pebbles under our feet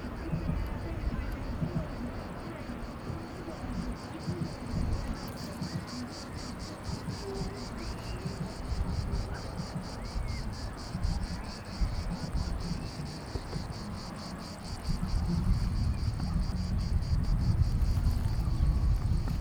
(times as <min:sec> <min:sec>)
0:17.6 0:19.4